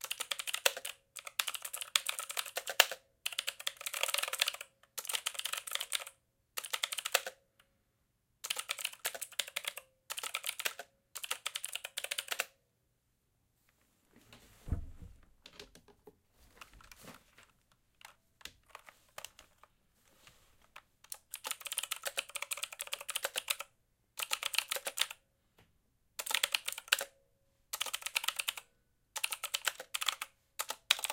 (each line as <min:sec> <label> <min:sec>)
0:00.0 Mechanical Keyboard Typing 0:07.4
0:08.4 Mechanical Keyboard Typing 0:12.5
0:18.0 Mechanical Keyboard Typing 0:19.7
0:21.0 Mechanical Keyboard Typing 0:25.2
0:26.2 Mechanical Keyboard Typing 0:27.1
0:27.7 Mechanical Keyboard Typing 0:28.6
0:29.2 Mechanical Keyboard Typing 0:31.1